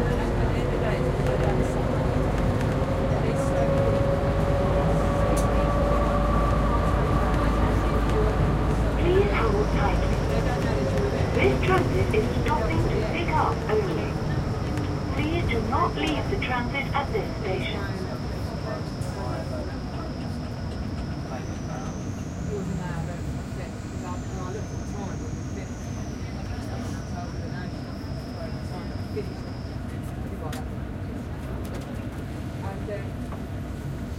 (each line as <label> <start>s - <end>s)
tram 0.0s - 34.1s
people 2.6s - 30.7s
announce 8.9s - 22.8s